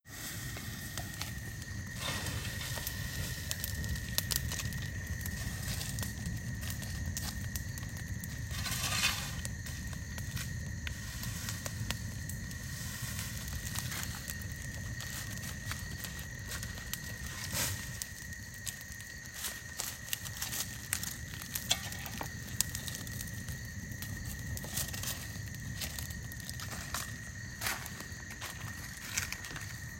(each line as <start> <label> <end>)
0.0 Campire being tended outdoors 29.9
0.0 insects 29.9
8.5 shovel scraping ground 9.5